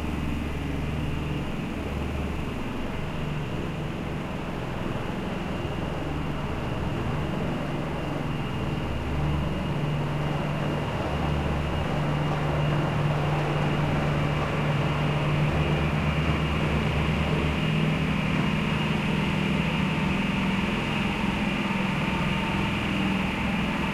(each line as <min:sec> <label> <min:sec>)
0:00.0 crane 0:23.9